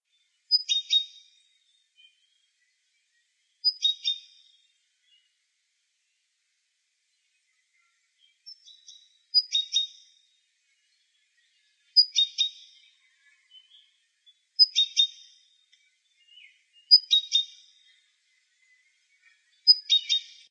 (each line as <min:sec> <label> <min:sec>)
0:00.5 repetitive, high-pitch call of a little bird 0:01.3
0:03.6 repetitive, high-pitch call of a little bird 0:04.4
0:08.5 repetitive, high-pitch call of a little bird 0:10.1
0:12.0 repetitive, high-pitch call of a little bird 0:12.7
0:14.6 repetitive, high-pitch call of a little bird 0:15.3
0:16.9 repetitive, high-pitch call of a little bird 0:17.6